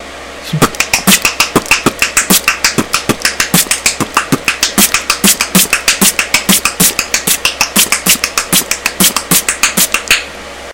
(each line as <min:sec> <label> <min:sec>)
0:00.5 tongue click beatbox 0:10.3